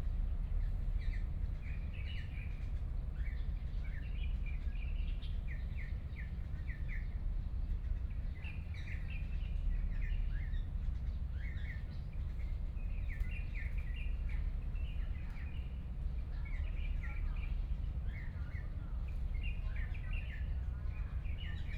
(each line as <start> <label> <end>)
0.2 Birds singing 21.7